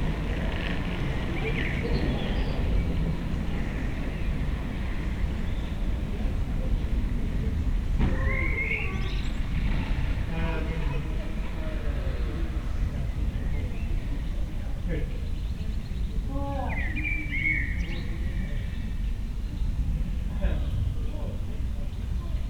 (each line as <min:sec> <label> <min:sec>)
0:00.0 two kids are still on the street 0:22.4